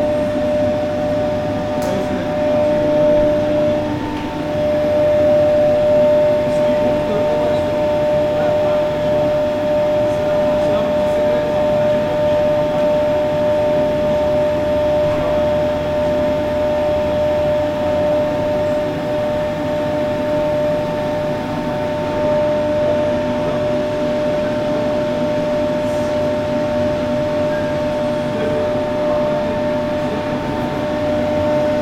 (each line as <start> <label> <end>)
0.0 Teleferik (Gondola) 31.8